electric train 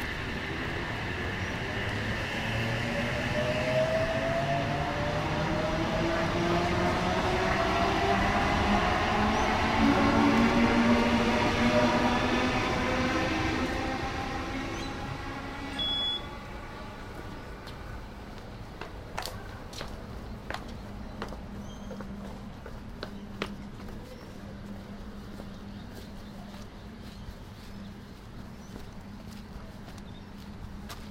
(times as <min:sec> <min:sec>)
0:00.0 0:19.1